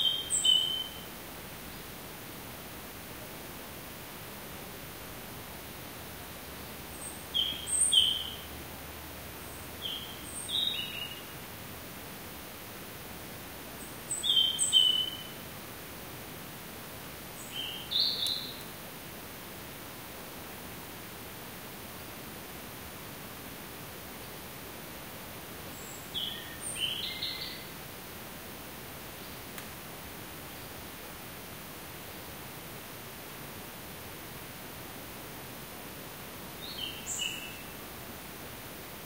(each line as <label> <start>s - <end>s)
bird 0.0s - 1.1s
insect 0.0s - 39.0s
wind 0.0s - 39.0s
bird 7.0s - 8.5s
bird 13.8s - 15.4s
bird 17.4s - 18.7s